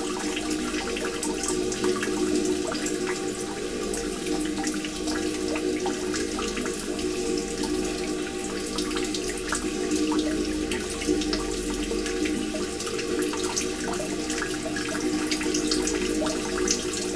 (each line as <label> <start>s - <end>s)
inside rain well 0.0s - 17.1s